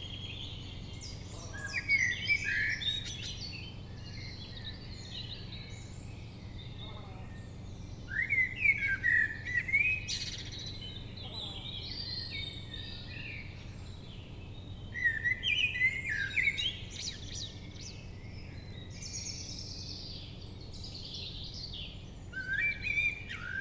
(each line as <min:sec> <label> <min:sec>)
0:00.0 Prominent Blackbird 0:23.6